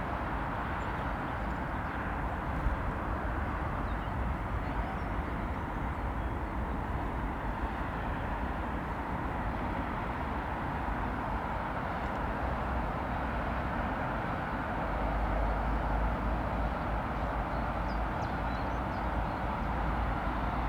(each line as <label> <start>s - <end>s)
constant roar of traffic 0.0s - 20.6s